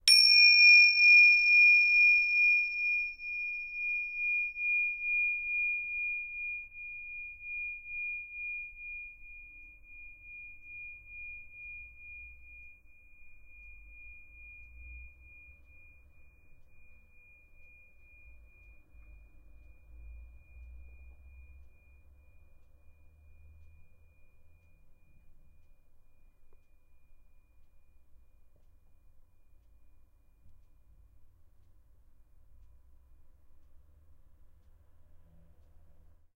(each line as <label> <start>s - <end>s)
Tibetan prayer bell 0.0s - 28.9s